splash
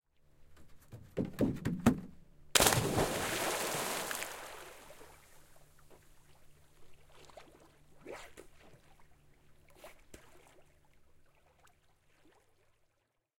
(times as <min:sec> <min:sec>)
0:02.6 0:05.5, 0:07.1 0:09.0, 0:09.7 0:10.7